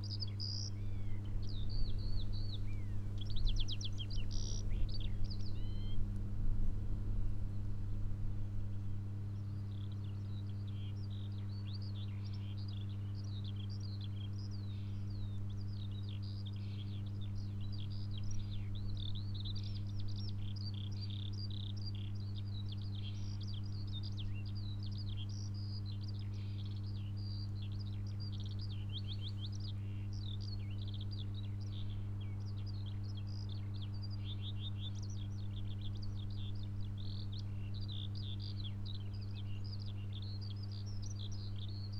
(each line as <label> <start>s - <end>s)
electric field with coil pick-ups 0.0s - 26.6s